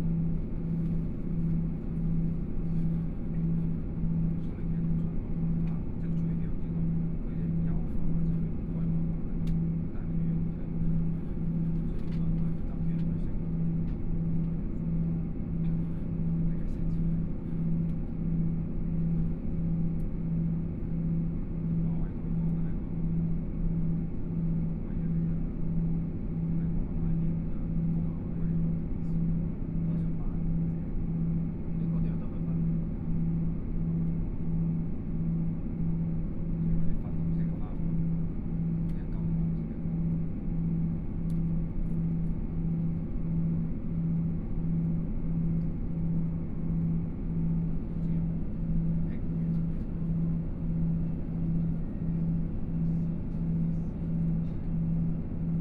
0.0s Noise inside the train 55.6s

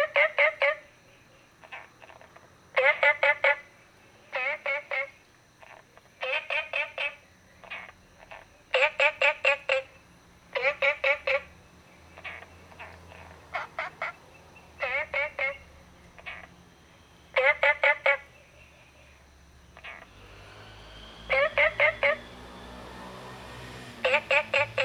0.0s Frogs chirping 24.8s

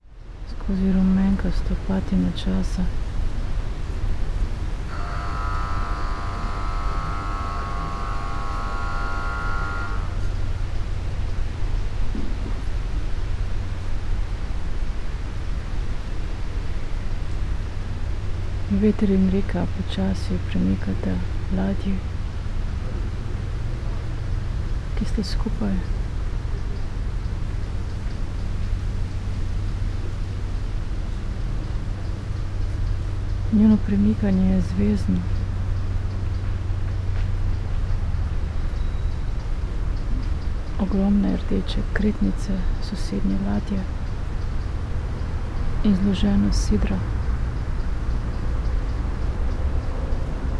0.0s river ship 50.5s
0.0s streets and river traffic 50.5s
0.0s wind through willow tree 50.5s

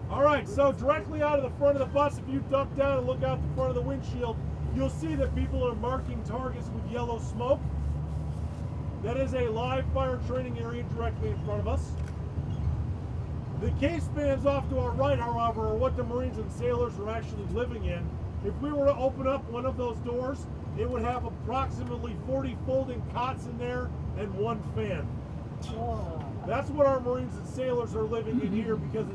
0.0s Yelling tour on the bus 7.7s
0.0s bus, bouncing across the Mojave sand 29.1s
12.7s Yelling tour on the bus 29.1s

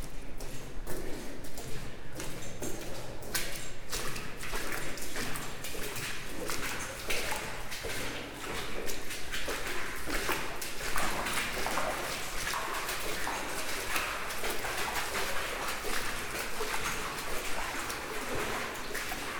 0.0s me walking like a galley slave 19.3s

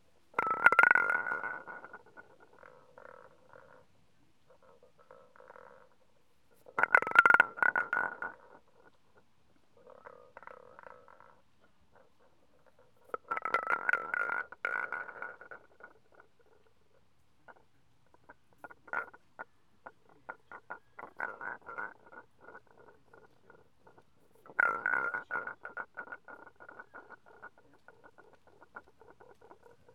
0.3s stone, round tongue rolling the the lions mouth 3.9s
0.4s the other tongue can be heard in the background 29.9s
4.5s stone, round tongue rolling the the lions mouth 29.9s

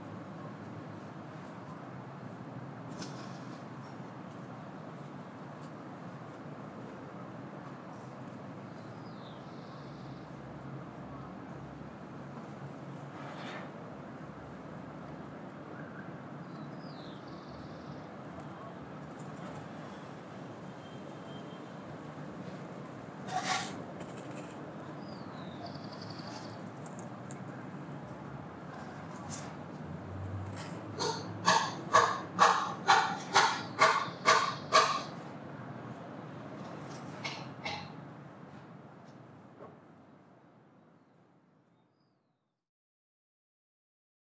0.0s noise of the city 42.1s
25.1s two little birds singing and answering each other 26.6s
31.0s worker is sawing a table of wood 35.1s

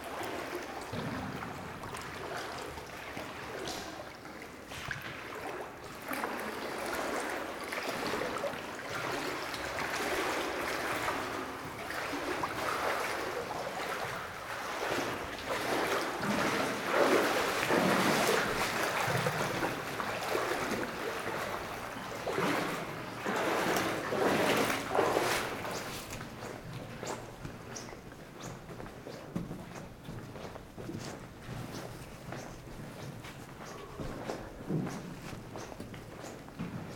0.0s Walking in water 36.9s

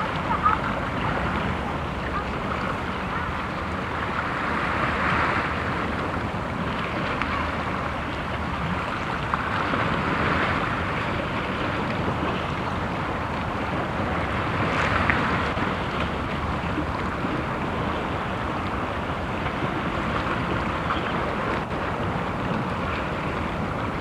0.0s seagull crying in the wind 3.7s
0.0s motor boat 24.0s
0.0s water waves on the sandy beach 24.0s
17.8s seagull crying in the wind 24.0s

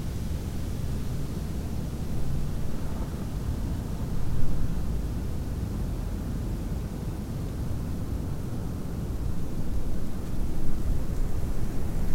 9.1s Snowstorm 12.1s

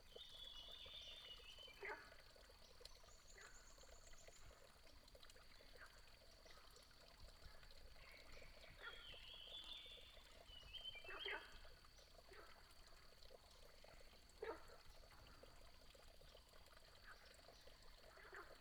0.0s Small water 18.6s

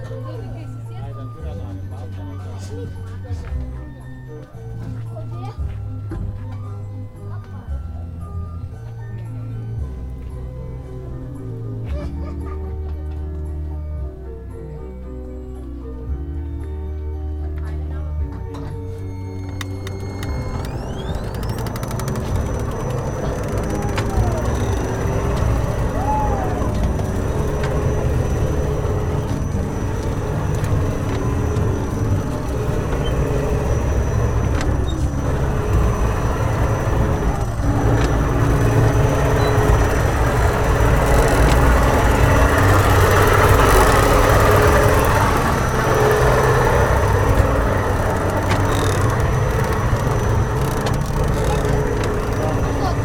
0.0s People with children getting ready 53.0s
0.0s soft music playing in the background 53.0s
18.2s loud mechanical noises 53.0s

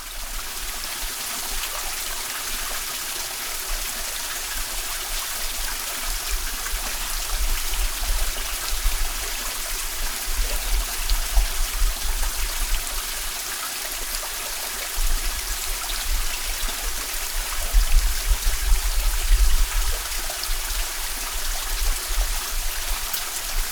0.0s running water 23.7s

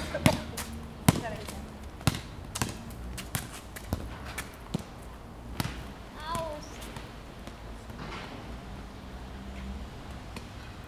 0.0s ball game 8.6s

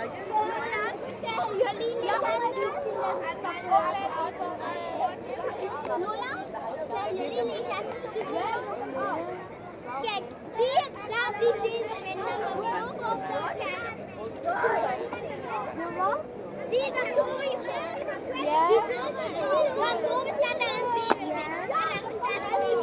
4.8s people selling rubbish 6.8s

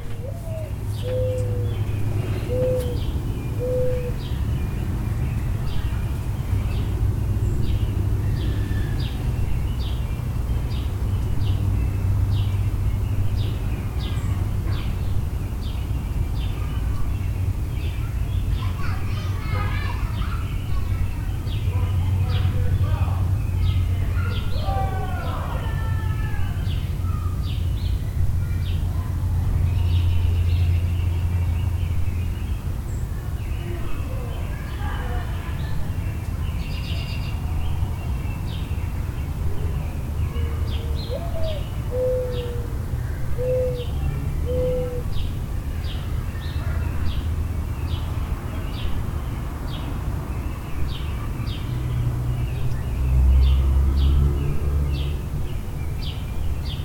0.0s mourning doves 14.2s
0.0s passing air and ground vehicles 56.8s
0.0s sparrows 56.8s
0.2s robins 4.3s
17.8s mourning doves 48.9s
18.0s people talking 27.4s
28.2s people talking 30.8s
33.4s people talking 37.6s
40.3s robins 45.3s

